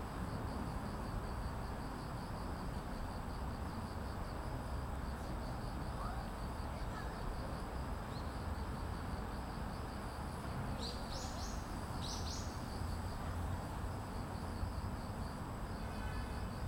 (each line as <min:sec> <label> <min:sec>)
0:00.0 Cricket 0:16.6
0:00.0 Street 0:16.6